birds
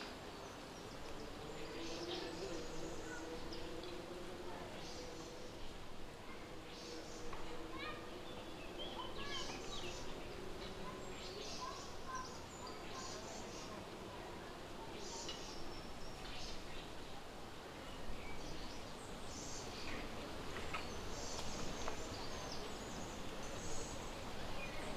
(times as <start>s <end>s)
18.0s 24.9s